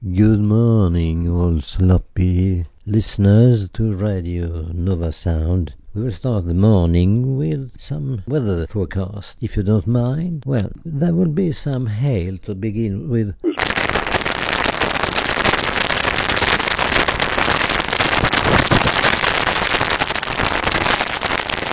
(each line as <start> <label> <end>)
13.5 enormous hailing 21.7